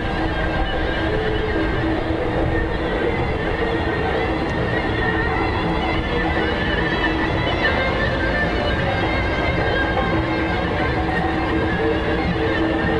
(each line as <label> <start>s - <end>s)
Wedding music (tapé) 0.0s - 12.9s
Wind 0.0s - 12.9s